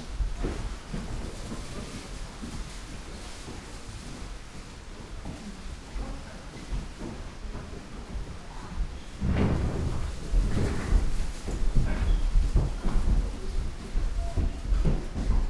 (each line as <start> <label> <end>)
9.0 steps 15.4